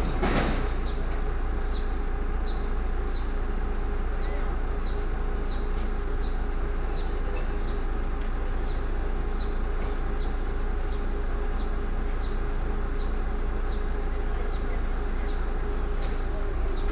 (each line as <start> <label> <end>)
0.0 Construction 6.9